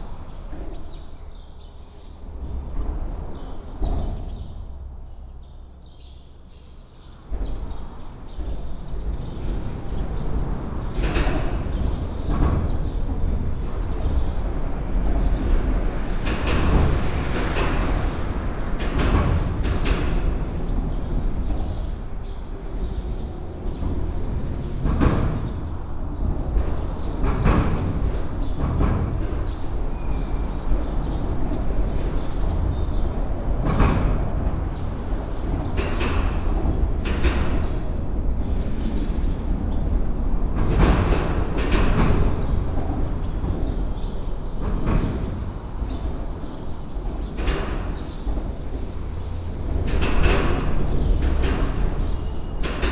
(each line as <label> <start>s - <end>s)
Traffic sound 0.0s - 52.9s
birds 18.8s - 40.0s
birds 40.7s - 52.8s